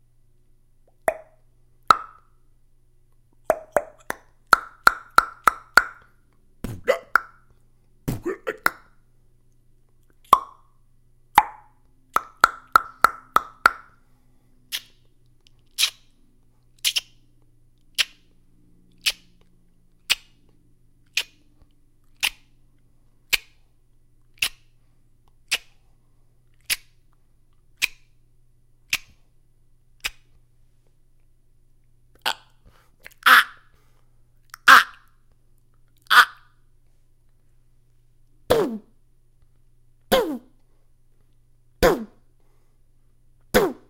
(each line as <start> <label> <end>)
0.9 Beatbox sounds 1.3
3.5 Beatbox sounds 6.0
6.6 Beatbox sounds 7.4
8.1 Beatbox sounds 8.8
11.4 Beatbox sounds 13.8
15.7 Beatbox sounds 16.0
16.8 Beatbox sounds 17.1
17.9 Beatbox sounds 18.2
21.1 Beatbox sounds 21.4
23.3 Beatbox sounds 23.6
24.4 Beatbox sounds 24.6
28.9 Beatbox sounds 29.2
38.5 Beatbox sounds 38.9
40.1 Beatbox sounds 40.5
41.8 Beatbox sounds 42.2
43.5 Beatbox sounds 43.8